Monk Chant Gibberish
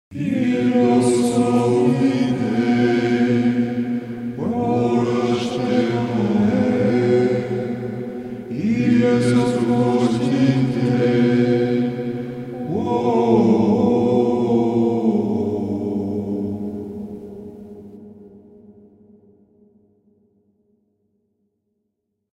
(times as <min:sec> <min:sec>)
0:04.4 0:16.1